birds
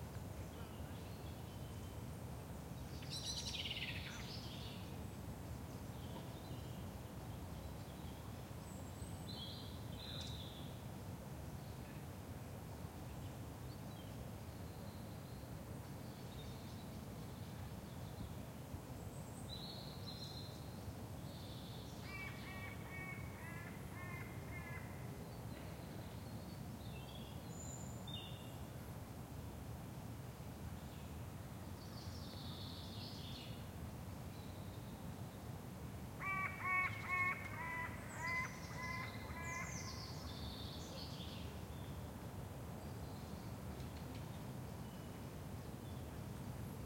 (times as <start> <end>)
36.2 42.2